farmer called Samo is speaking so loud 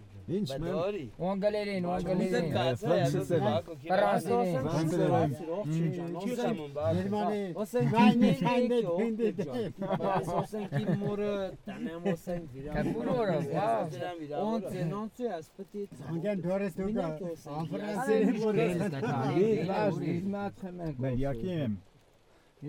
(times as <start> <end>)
0.3 11.0